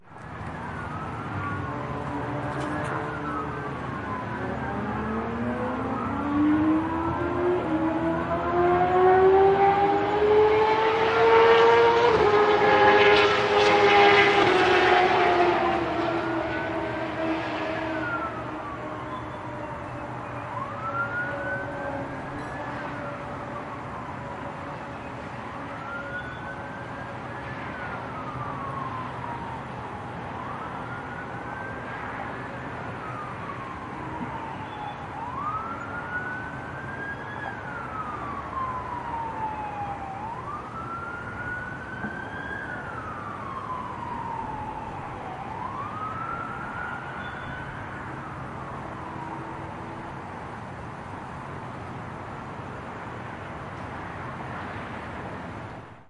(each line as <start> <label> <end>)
0.0 sports cars can be heard tearing down the freeway 56.0